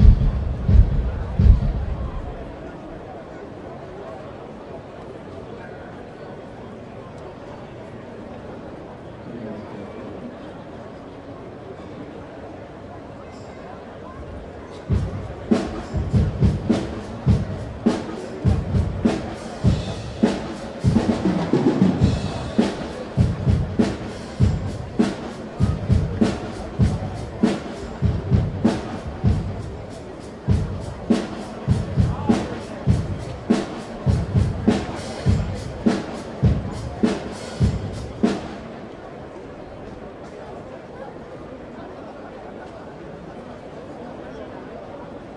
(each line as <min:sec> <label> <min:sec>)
0:00.0 people 0:45.3